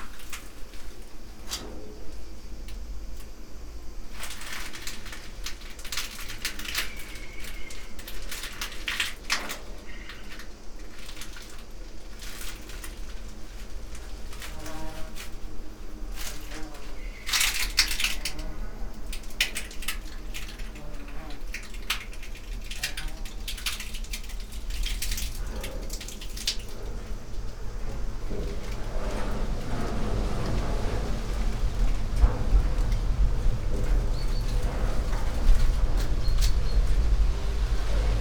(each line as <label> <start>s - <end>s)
cicadas 0.0s - 38.2s
tree branches on the top of metal shed, moved by wind 0.0s - 38.2s
dry leaves 4.2s - 38.2s
distant thunder 24.7s - 38.2s